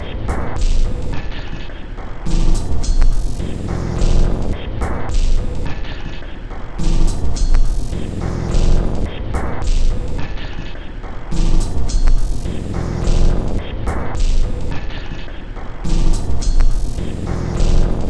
0.0s Drum 1.4s
2.3s Drum 5.9s
6.6s Drum 10.6s
11.3s Drum 15.1s
15.7s Drum 18.0s

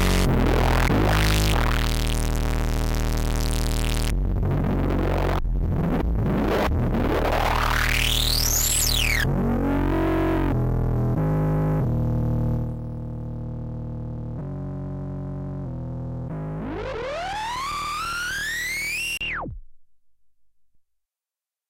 0.0s bass 20.8s

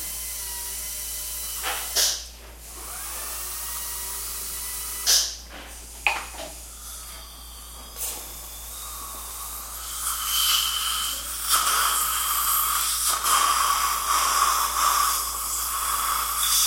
0.0s drill 5.4s
6.7s drill 16.6s
6.7s teeth cleaning 16.6s

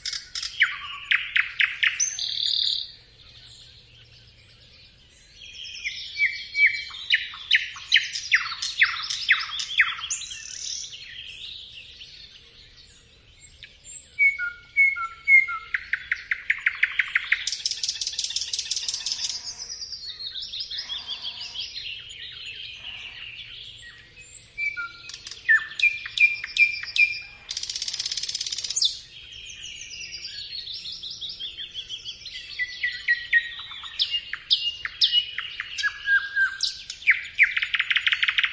0.0s Birdsong 38.5s
0.0s nightingale nearby 38.5s

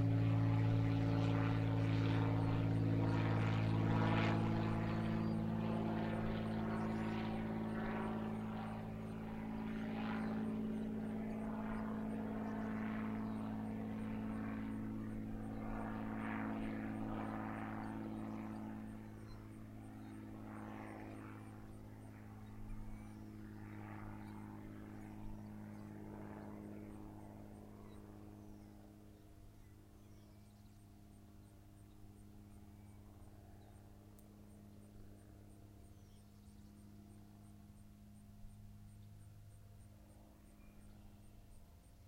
0.0s Small-engine plane flying by 42.0s

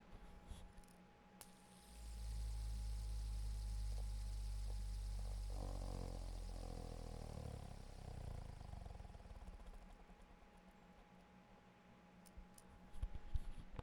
1.4s fidget spinner 10.5s

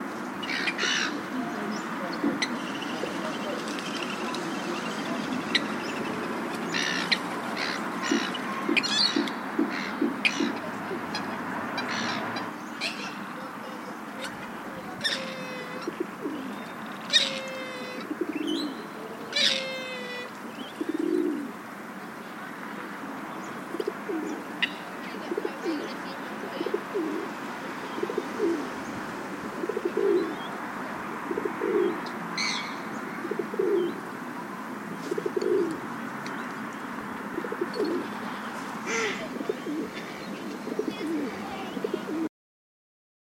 0.0s pidgeons 34.1s
0.0s traffic noise 42.3s
0.2s magpies 34.0s
6.7s seagulls 18.7s
19.3s seagulls 21.4s
34.9s pidgeons 42.3s
35.1s magpies 42.3s

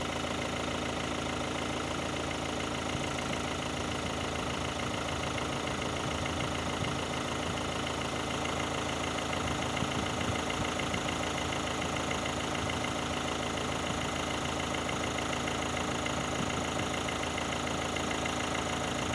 0.0s diesel engine idling (cold) 19.1s

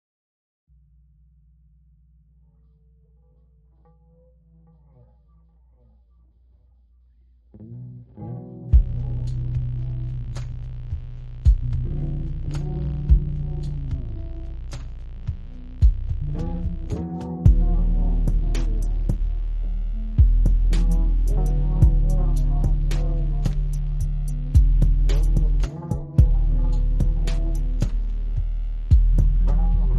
7.6s melody with guitar 28.4s
7.8s sub bass makes an entrance 29.9s
8.7s beat kicks in 29.9s

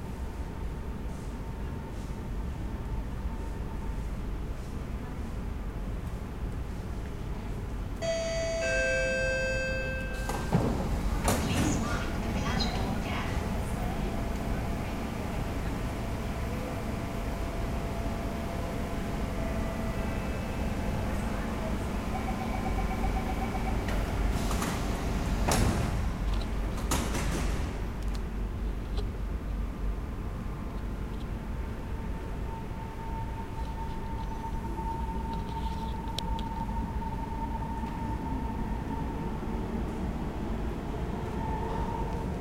0.0s train arriving 42.4s
0.0s train departing 42.4s
8.0s ding dong 10.6s
8.0s doors opening and closing 13.0s
8.0s announcements 15.2s

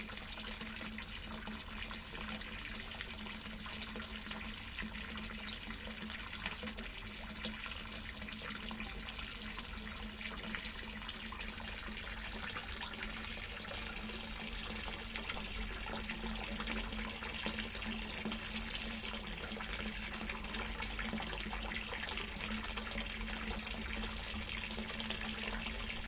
0.0s fountain 26.0s

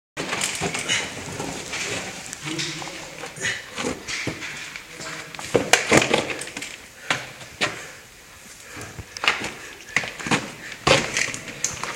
0.2s man walking in a cave 11.9s

